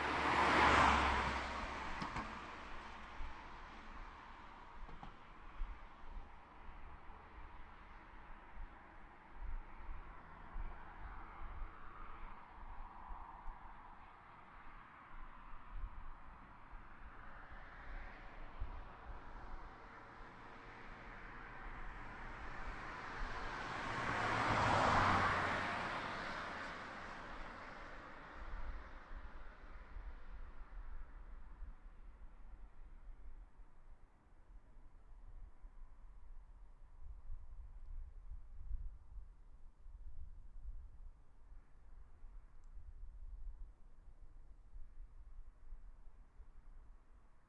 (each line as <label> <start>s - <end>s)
cars passing 0.0s - 4.8s
cars passing 10.0s - 11.7s
cars passing 17.3s - 30.4s